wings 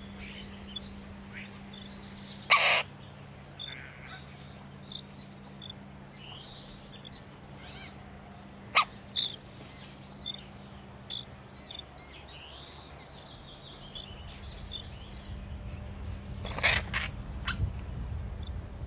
16.4 17.7

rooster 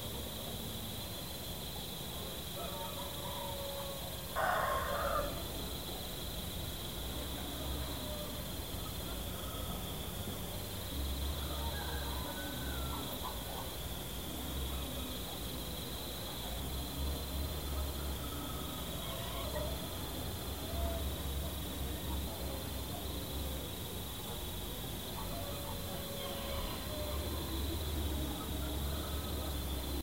2.6 5.6, 11.3 13.7, 17.7 21.2, 25.2 29.6

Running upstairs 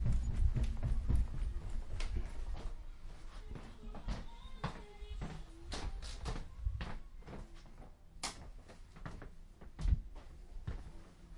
0.0 7.9

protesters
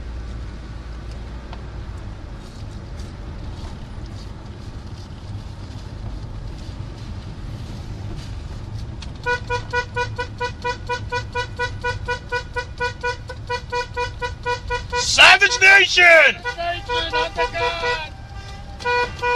14.8 19.3

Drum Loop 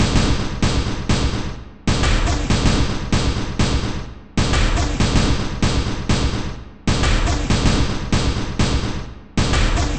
1.9 6.2, 6.9 9.9

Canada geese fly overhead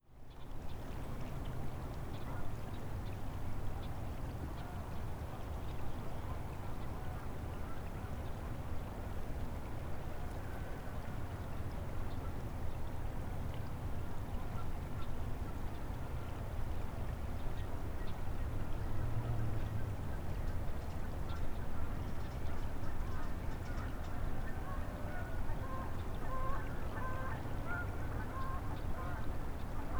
21.3 29.9

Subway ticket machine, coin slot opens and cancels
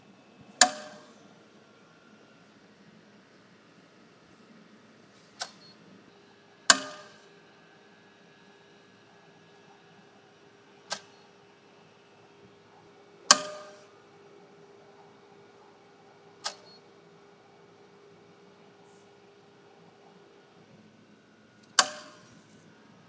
5.3 5.8, 13.3 13.9, 16.4 16.8, 21.7 22.3

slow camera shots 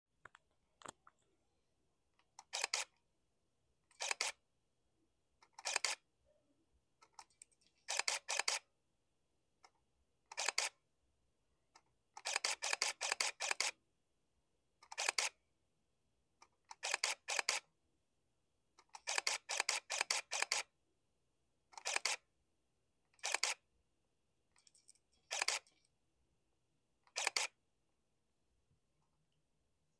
2.4 3.0, 3.9 4.4, 5.5 6.0, 7.8 8.6, 10.4 10.8, 12.2 13.8, 14.9 15.4, 16.8 17.6, 19.0 20.7, 21.8 22.2, 23.2 23.6, 25.2 25.8, 27.0 27.6

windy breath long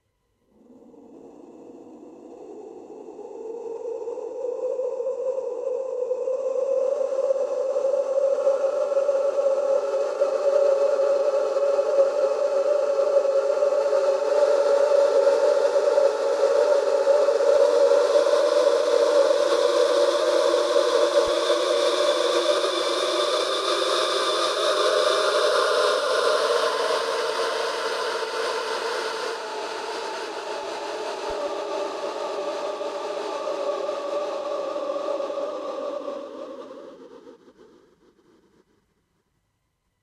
0.4 5.9

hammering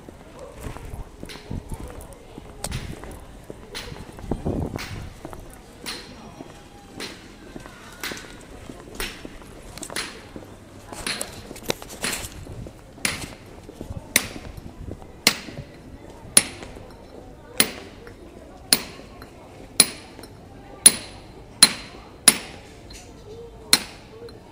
14.1 14.4, 15.2 15.7, 16.4 16.7, 17.6 18.0, 18.7 19.1, 19.8 20.2, 20.9 22.6, 23.7 24.1

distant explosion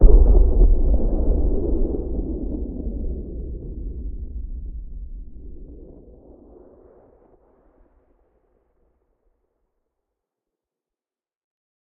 0.0 7.9

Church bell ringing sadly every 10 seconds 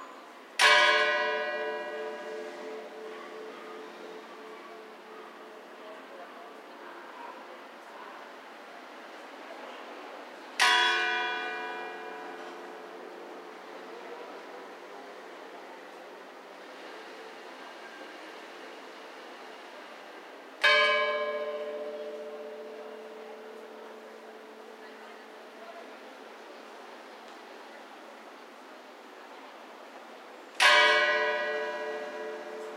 0.6 6.0, 10.6 13.7, 20.6 25.6, 30.6 32.7

